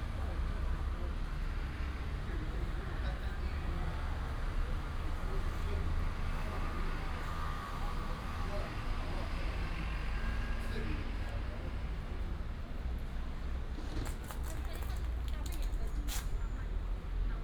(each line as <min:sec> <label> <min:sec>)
0:00.0 Traffic sound 0:17.4